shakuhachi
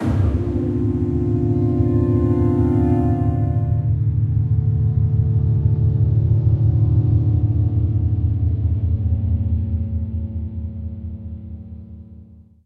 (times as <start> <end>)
0.0 3.9